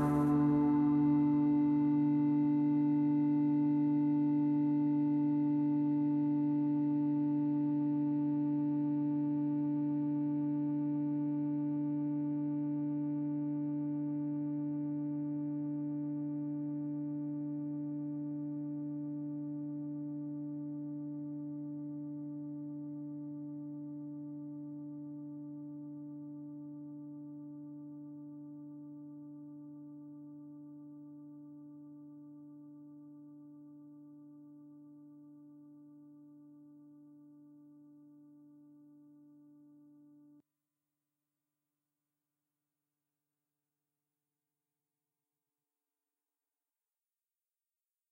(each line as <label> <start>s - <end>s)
Synth 0.0s - 2.0s